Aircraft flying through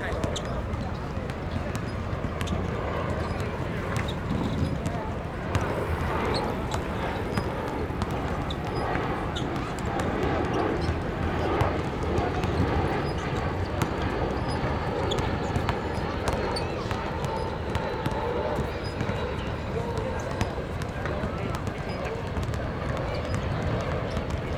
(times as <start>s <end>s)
2.8s 13.5s